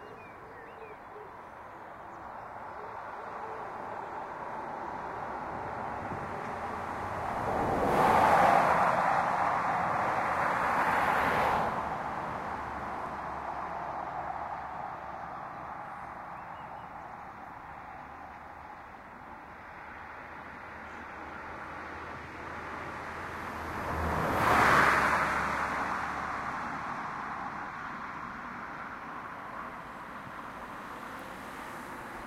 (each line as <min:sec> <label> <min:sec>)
0:00.0 Cars travelling under bridge 0:32.2